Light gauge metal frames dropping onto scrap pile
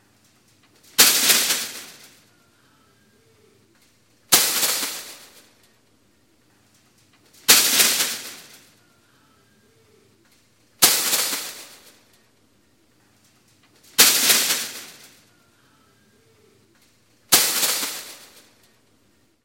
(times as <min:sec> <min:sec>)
0:00.8 0:02.3, 0:04.3 0:05.6, 0:07.0 0:08.8, 0:10.8 0:12.2, 0:13.3 0:15.3, 0:17.3 0:18.7